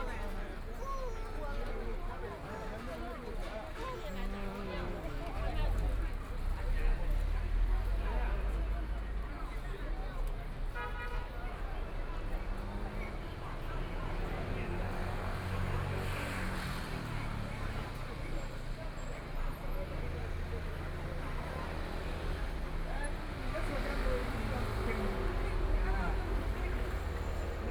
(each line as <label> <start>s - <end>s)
Traffic Sound 0.0s - 27.7s
Very large number of tourists 0.0s - 27.7s
walking in the Street 0.0s - 27.7s